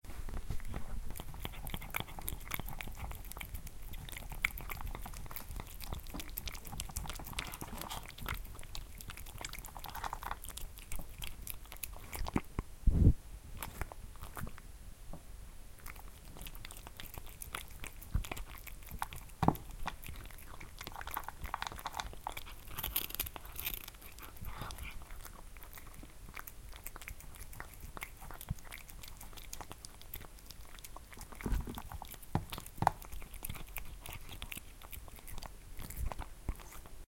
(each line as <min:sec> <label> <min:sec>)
0:00.1 Cat eats its dinner 0:12.7
0:13.5 Cat eats its dinner 0:14.7
0:15.7 Cat eats its dinner 0:37.0